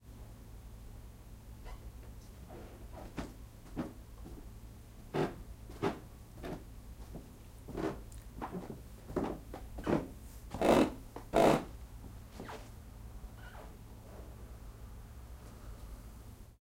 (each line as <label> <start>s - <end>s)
talking up a flight of wooden stairs 2.0s - 12.6s